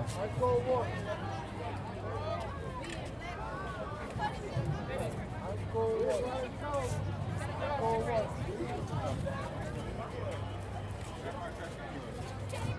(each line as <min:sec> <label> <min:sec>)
0:03.7 memorial parade 0:12.7